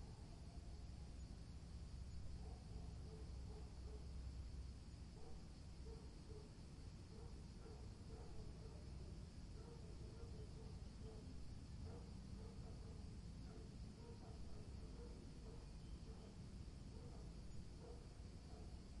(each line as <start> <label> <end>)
2.4 dogs barking 4.0
7.1 dogs barking 8.9
9.6 dogs barking 11.3
11.9 dogs barking 16.3
17.0 dogs barking 18.8